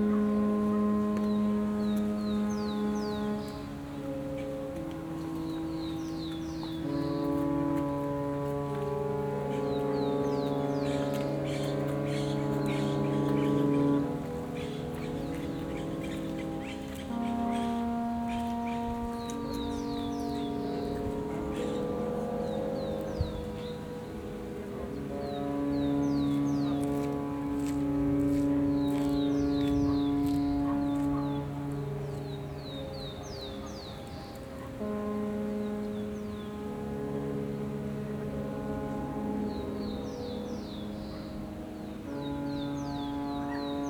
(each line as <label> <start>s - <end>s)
Ship horns 0.0s - 43.8s
Sounds from the city in background 0.0s - 43.8s